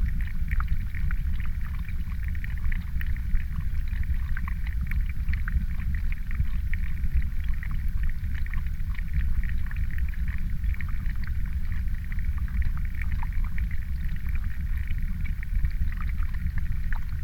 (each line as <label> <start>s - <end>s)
water flows from pond into stream 0.0s - 17.2s